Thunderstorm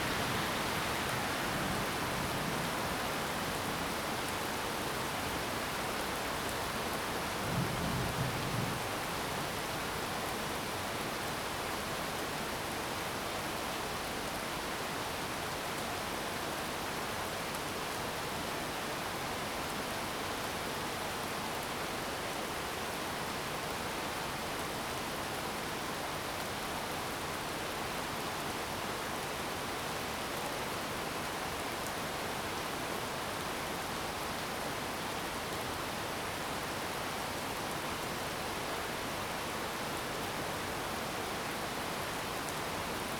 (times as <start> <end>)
7.4 9.0